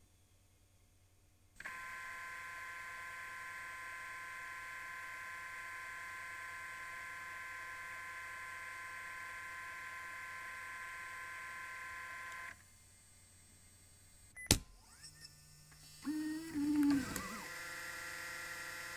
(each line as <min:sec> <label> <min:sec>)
0:01.6 working Sony DSR-PDX10 MiniDV Camcorder 0:12.8
0:14.4 working Sony DSR-PDX10 MiniDV Camcorder 0:18.9
0:14.8 rewind 0:18.9